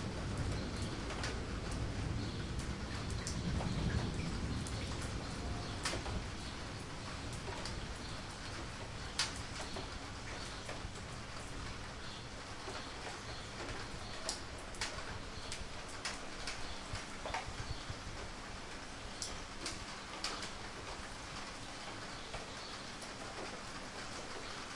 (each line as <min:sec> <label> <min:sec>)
0:00.0 rain 0:24.7
0:00.2 thunder 0:06.4